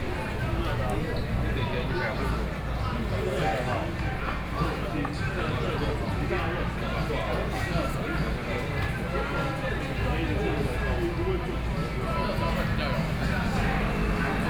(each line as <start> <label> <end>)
12.4 Traffic Sound 14.4